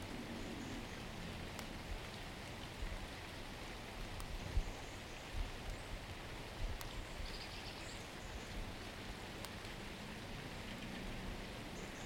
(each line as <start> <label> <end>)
0.0 Water dripping from slide 12.0